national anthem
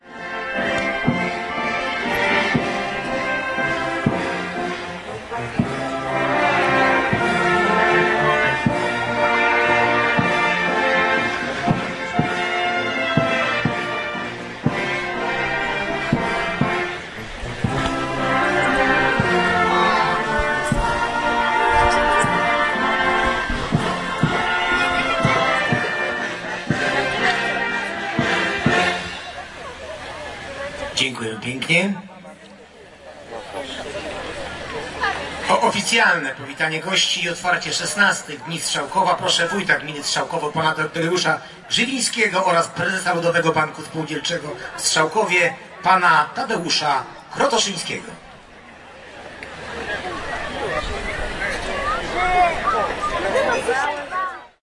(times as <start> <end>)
0.0 32.1